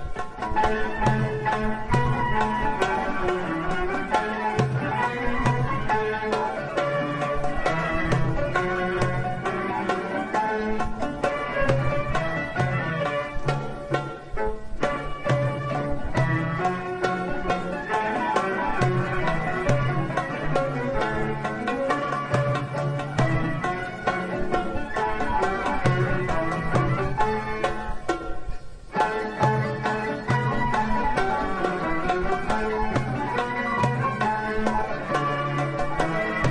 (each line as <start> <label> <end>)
0.0 Darj rhythm with ornaments 36.5
0.0 derbouka 36.5
0.0 orchestra 36.5